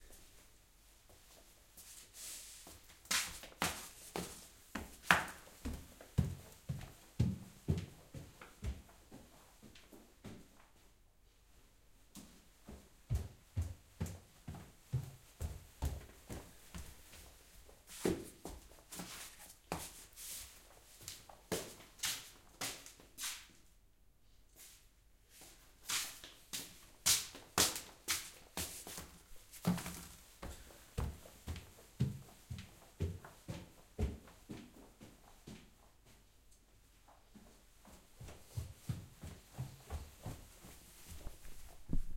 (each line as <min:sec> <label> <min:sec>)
0:01.0 Walking in slippers on floor 0:23.6
0:24.6 Walking in slippers on floor 0:42.1